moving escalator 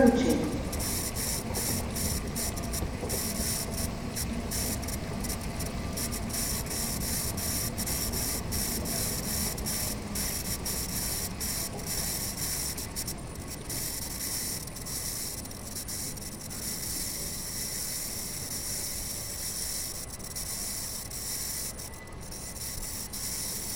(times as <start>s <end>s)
0.0s 13.8s